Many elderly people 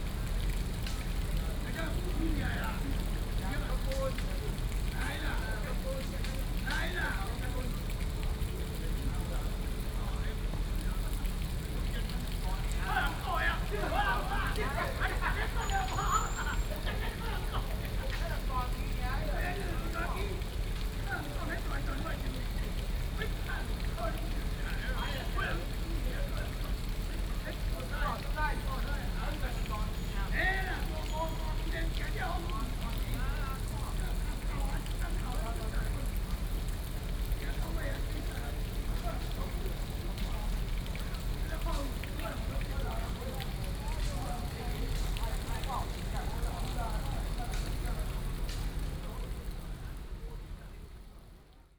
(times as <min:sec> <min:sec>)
0:11.7 0:36.4